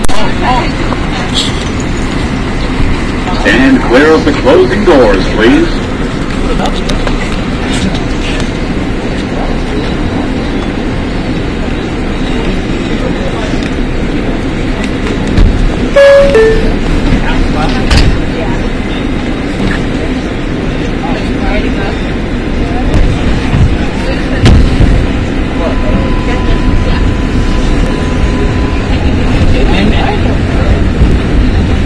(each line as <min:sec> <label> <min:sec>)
0:00.0 subway 0:31.8
0:03.3 robot announcer 0:05.8
0:16.0 robot announcer 0:16.8